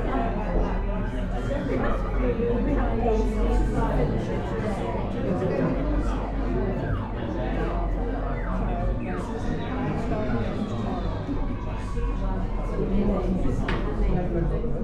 0.0s Happy customers in a busy cafe 14.8s

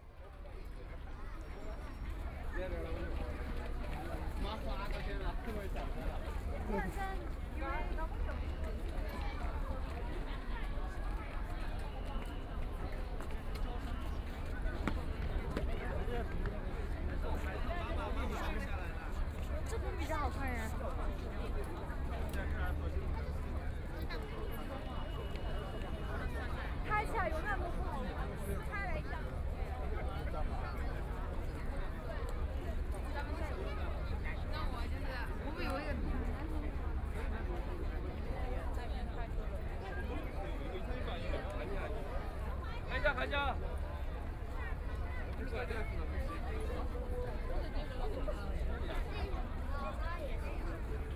0.0s Traveling by boat on the river 51.1s

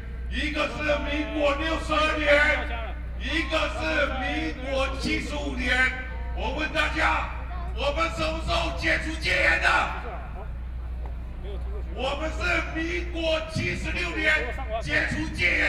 0.3s Excitement and enthusiasm speech 10.6s
11.4s Excitement and enthusiasm speech 15.6s

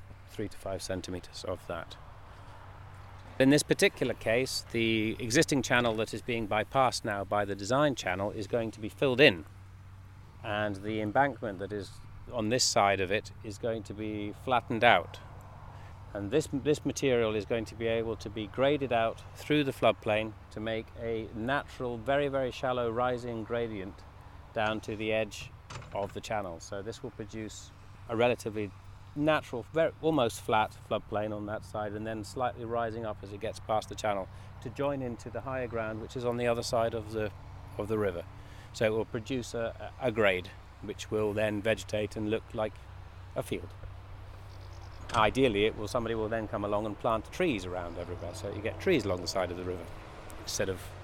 0.0s Field interview with ecohydrologist 51.0s

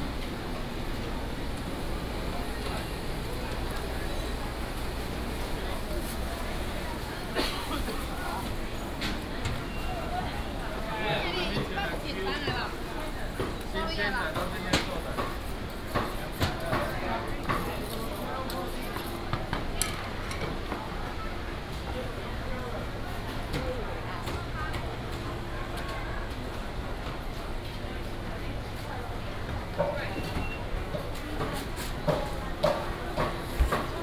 0.0s vendors peddling 15.1s
0.0s Walking in the market 34.0s

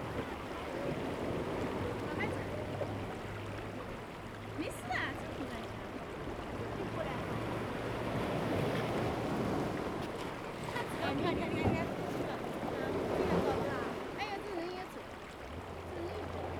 0.0s waves 16.5s

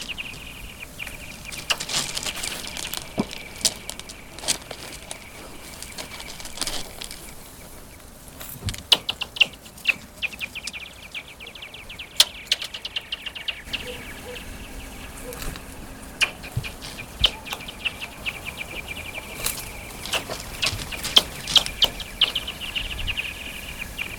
1.4s Stones on the ice 7.4s

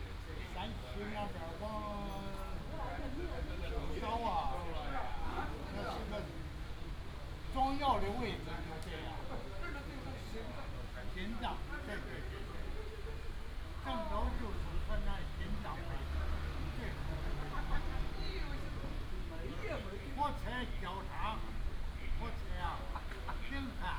0.1s Play chess and chat 23.9s
12.4s Traffic sound 23.9s

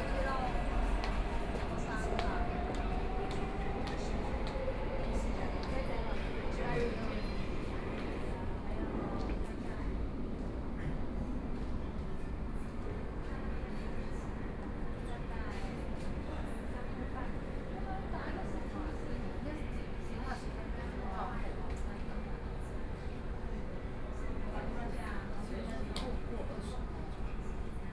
0.0s train arrived at the platform 27.9s

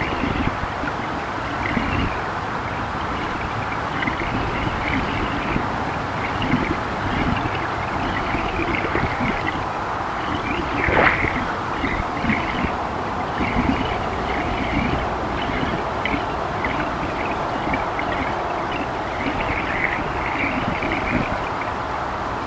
0.0s traffic sound 22.4s
8.1s current here is very strong 14.1s

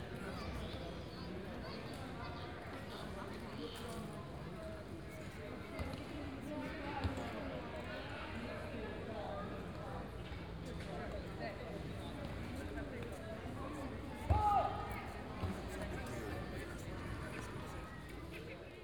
0.0s people relaxing and talking 18.8s
14.2s teenagers kicking a soccer ball 15.9s

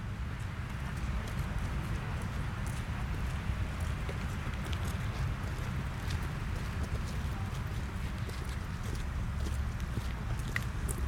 0.0s students walking by 11.0s

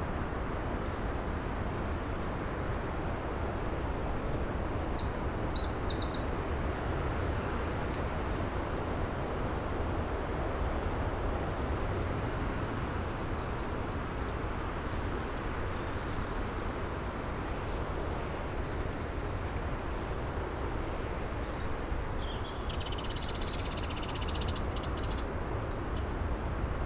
0.0s wind 26.8s
0.1s Birds 6.4s
11.6s Birds 19.2s
19.9s Birds 26.6s

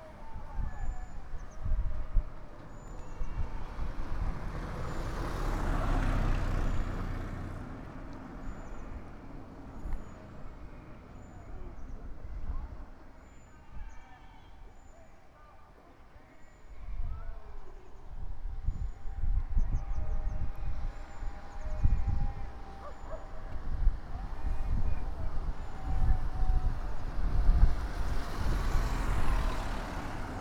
0.0s car with a megaphone 30.4s

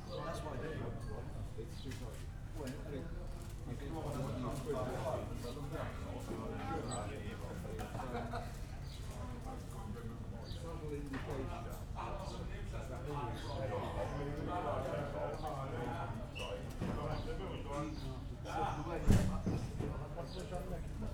0.0s street cafe ambience 21.1s

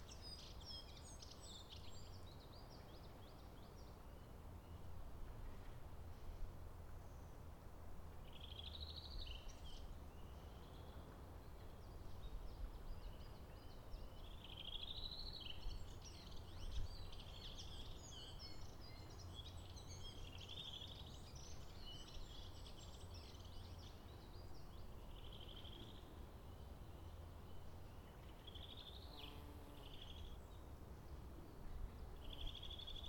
0.0s lovely bird singing 4.9s
8.3s lovely bird singing 33.0s

